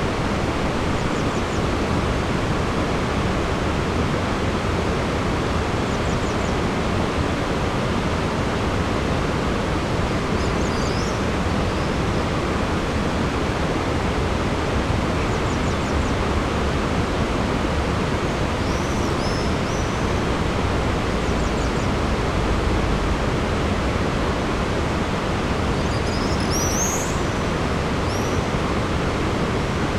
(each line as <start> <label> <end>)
0.0 water 29.9